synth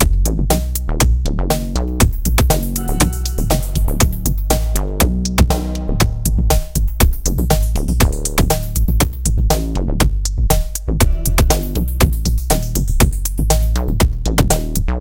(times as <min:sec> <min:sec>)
0:02.8 0:06.2